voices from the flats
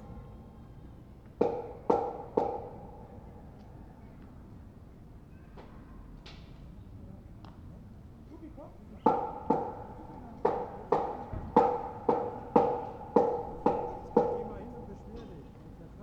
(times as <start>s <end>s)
8.2s 16.0s